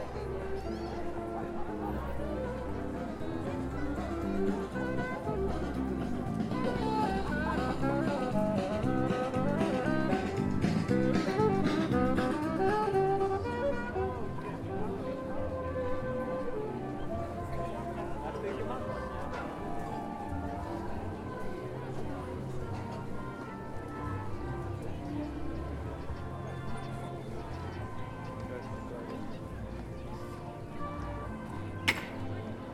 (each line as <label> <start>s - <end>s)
crowd noise 0.0s - 32.7s
street music 0.0s - 32.7s